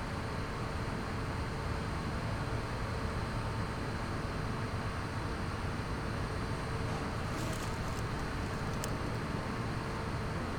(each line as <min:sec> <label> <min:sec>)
0:03.8 Ventilation, sous la pelouse 0:10.5